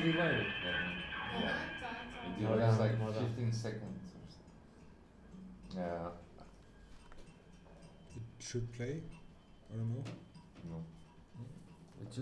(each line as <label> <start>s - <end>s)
soundcheck 0.0s - 4.4s